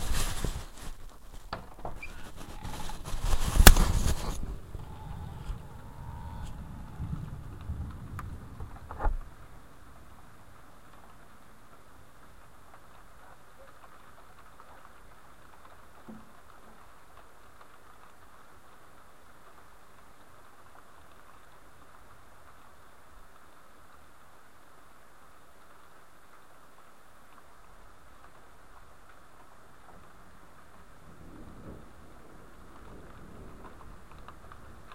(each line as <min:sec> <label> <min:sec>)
0:03.6 thunder 0:09.5
0:31.0 thunder 0:34.9